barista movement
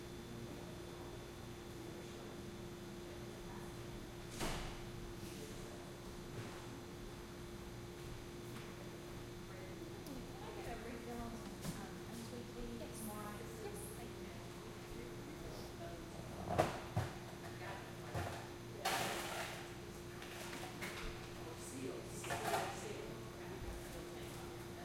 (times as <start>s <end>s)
16.2s 21.3s, 22.1s 22.9s